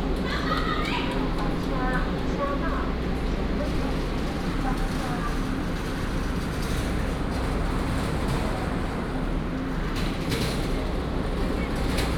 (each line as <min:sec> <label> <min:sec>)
0:00.0 The train arrived at the station 0:12.1